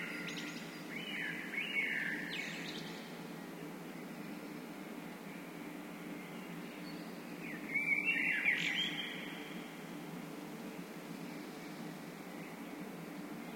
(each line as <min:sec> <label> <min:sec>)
0:00.0 birdsong 0:09.8